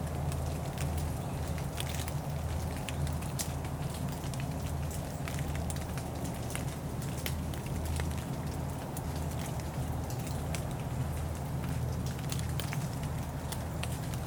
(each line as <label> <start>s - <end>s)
soft rain is falling onto the trees 0.0s - 14.2s